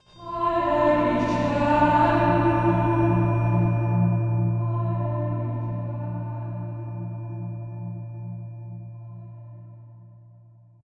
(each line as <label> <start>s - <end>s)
choir 0.0s - 7.6s